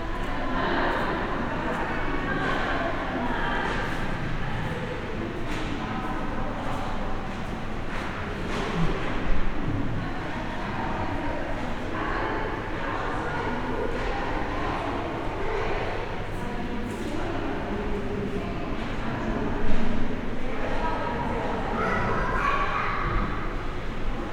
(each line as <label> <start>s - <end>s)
voices 9.9s - 24.3s